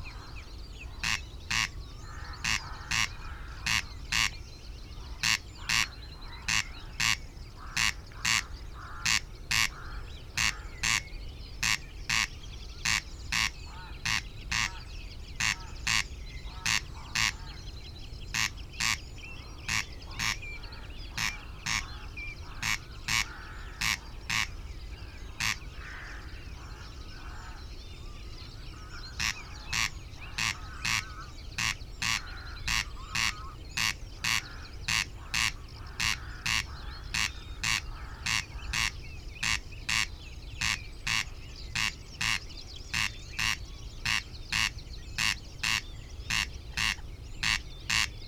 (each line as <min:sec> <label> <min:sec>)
0:00.0 blackbird 0:48.2
0:00.0 moorhen 0:48.2
0:00.0 reed bunting 0:48.2
0:00.0 sedge warbler 0:48.2
0:00.0 song thrush 0:48.2
0:01.0 greylag geese 0:04.4
0:01.0 crow 0:04.3
0:05.0 greylag geese 0:11.0
0:05.2 crow 0:17.6
0:11.6 greylag geese 0:17.6
0:18.3 greylag geese 0:24.6
0:19.6 crow 0:24.5
0:25.2 greylag geese 0:27.6
0:25.4 crow 0:27.6
0:28.7 crow 0:42.4
0:28.7 greylag geese 0:48.2